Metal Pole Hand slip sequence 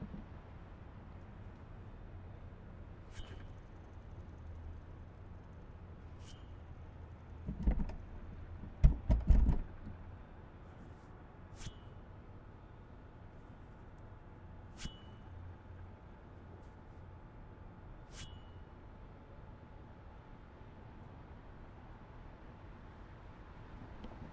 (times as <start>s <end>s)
3.1s 3.7s, 11.6s 12.0s, 14.7s 15.4s, 18.1s 18.6s